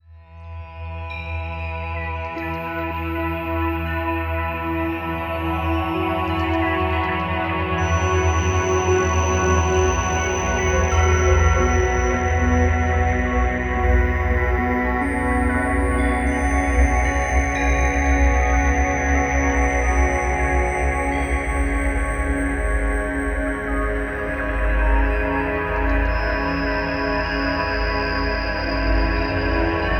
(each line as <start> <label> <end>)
1.1 chimes 29.9